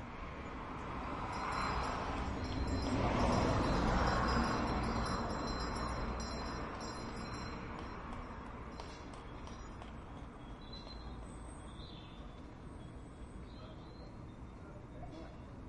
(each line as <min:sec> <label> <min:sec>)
0:00.0 traffic 0:15.6
0:01.1 ringing bells 0:11.1